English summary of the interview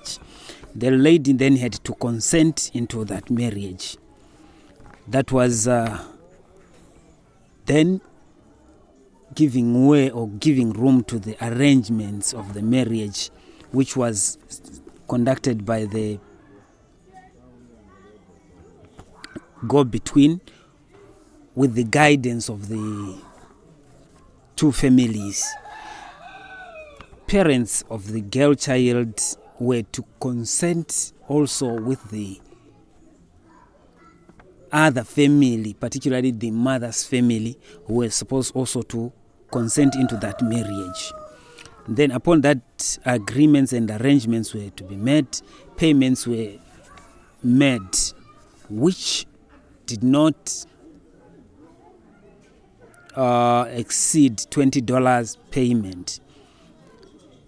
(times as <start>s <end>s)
0.0s 6.2s, 9.3s 17.3s, 24.5s 33.0s, 34.7s 50.8s, 53.0s 56.6s